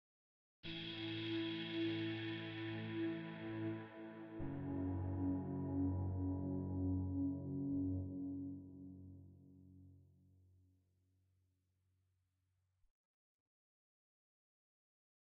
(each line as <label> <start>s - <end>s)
Bi-Tonal Modulating Soft AirPad 0.7s - 8.5s